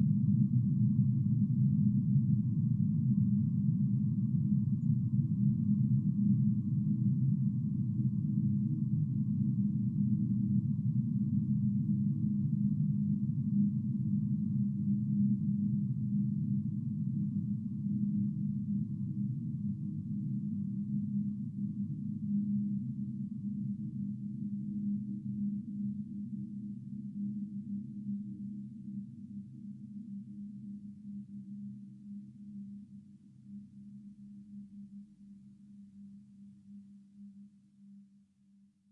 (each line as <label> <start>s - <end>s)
low frequency drone like sound which builds up slowly 0.0s - 37.4s